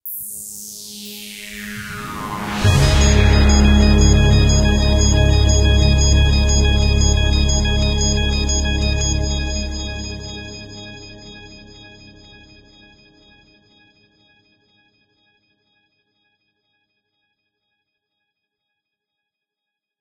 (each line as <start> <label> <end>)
1.6 bass 12.9
1.9 organ 11.5
2.4 warm choir 11.2